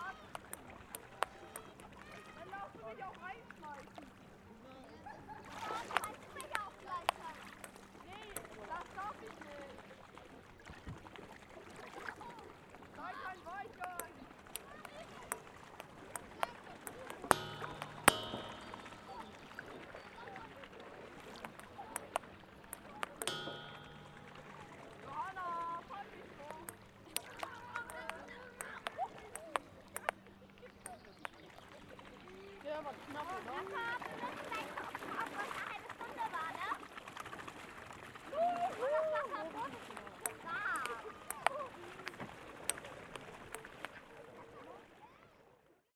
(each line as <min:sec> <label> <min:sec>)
0:13.9 Tischtennis 0:31.4